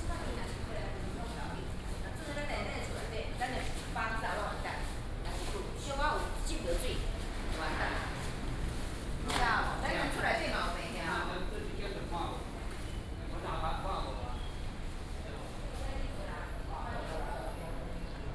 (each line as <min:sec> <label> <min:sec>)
0:00.0 Walking in a small alley 0:18.3